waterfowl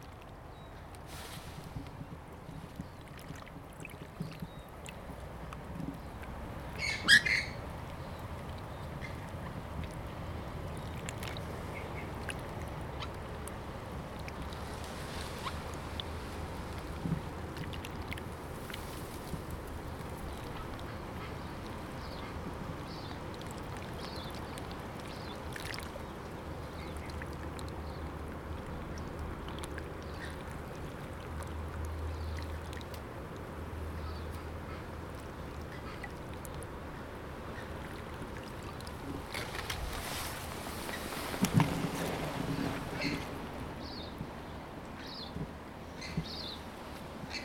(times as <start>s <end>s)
6.7s 7.6s